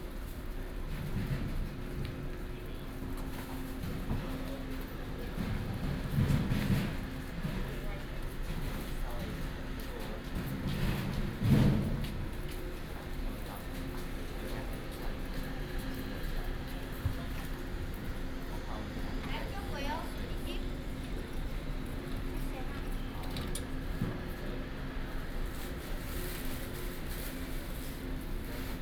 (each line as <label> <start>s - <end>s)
The train arrives and departs 0.0s - 28.8s